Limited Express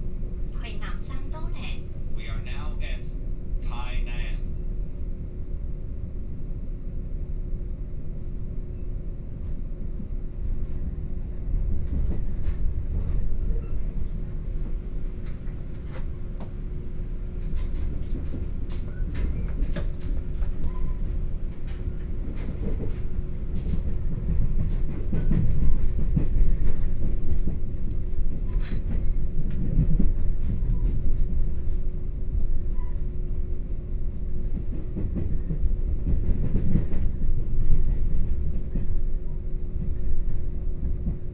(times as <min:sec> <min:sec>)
0:11.2 0:38.6